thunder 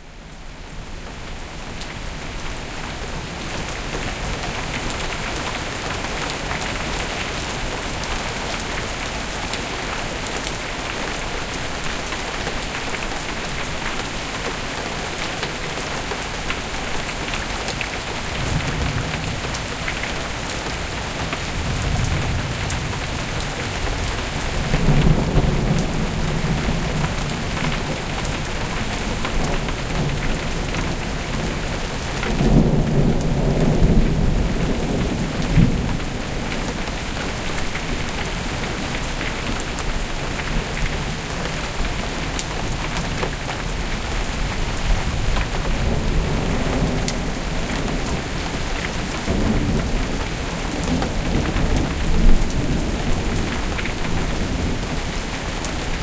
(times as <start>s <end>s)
18.2s 20.1s, 21.2s 28.4s